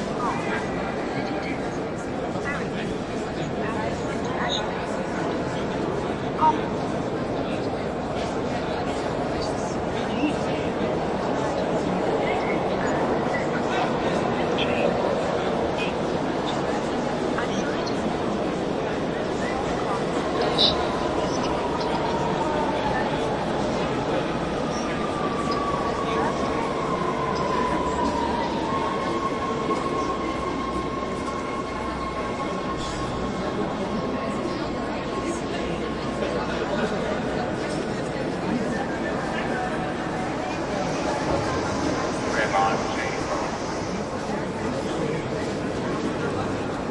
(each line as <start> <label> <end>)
0.0 many people 46.9
0.0 trains come and go 46.9
20.2 several announcements 22.1
40.4 several announcements 44.2